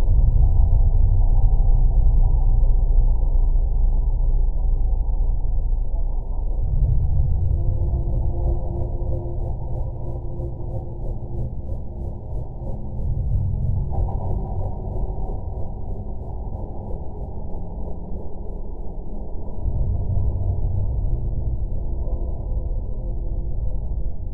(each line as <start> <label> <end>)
0.0 drone 24.3